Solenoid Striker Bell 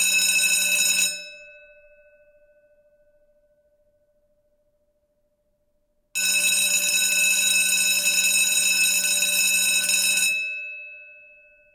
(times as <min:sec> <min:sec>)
0:00.0 0:03.3, 0:06.2 0:11.7